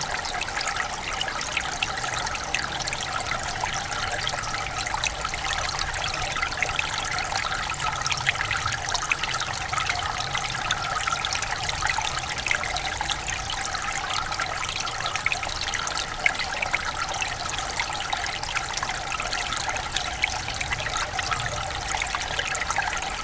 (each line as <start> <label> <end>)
0.0 stream 23.2